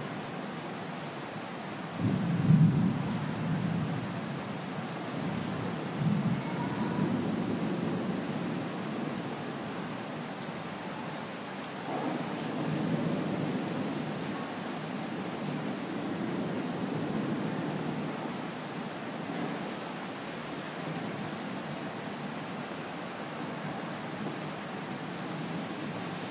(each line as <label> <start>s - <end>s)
rain 0.0s - 26.3s
thunder 2.0s - 4.1s
thunder 5.4s - 8.3s
thunder 11.8s - 14.2s